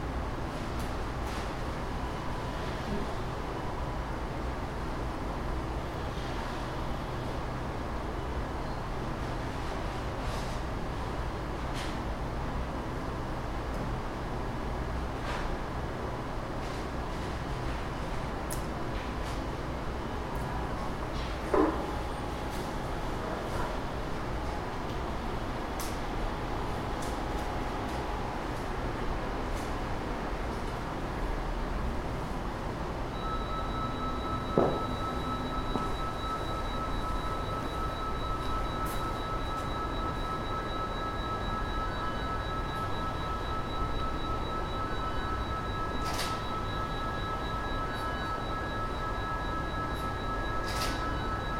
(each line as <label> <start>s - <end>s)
machines in their kitchens 0.0s - 51.5s